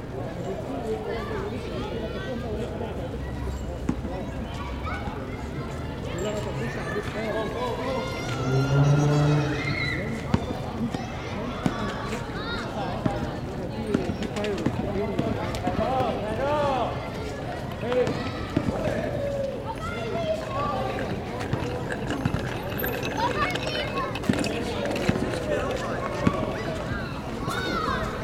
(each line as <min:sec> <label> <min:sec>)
0:00.0 children playing 0:28.2
0:20.5 bicycle bells 0:25.7